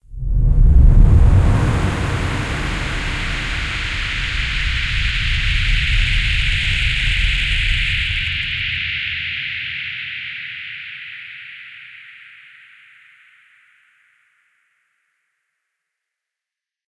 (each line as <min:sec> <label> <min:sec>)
0:00.8 ROCKET LAUNCH 0:08.8